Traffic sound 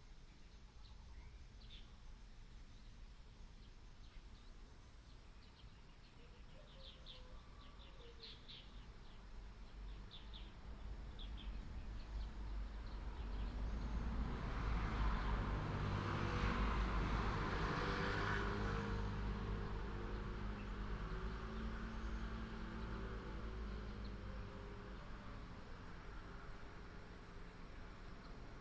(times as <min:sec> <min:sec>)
0:09.8 0:28.6